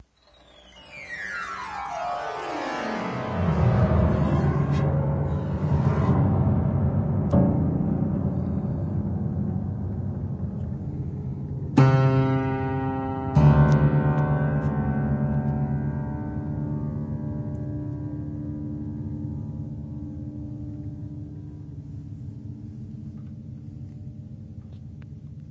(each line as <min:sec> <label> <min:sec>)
0:00.2 Crude arpeggio 0:07.4